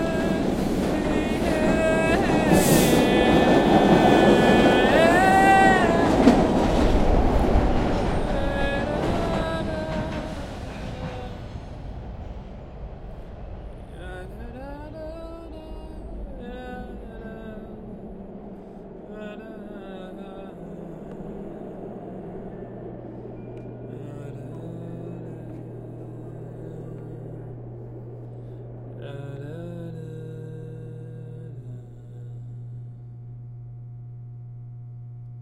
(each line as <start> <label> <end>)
0.0 man singing 11.6
0.0 naturally amplified sound of the over head fluorescent lamps 35.4
0.0 on coming train/ subway car 35.4
13.9 man singing 18.2
19.0 man singing 22.5
23.8 man singing 27.6
28.9 man singing 33.5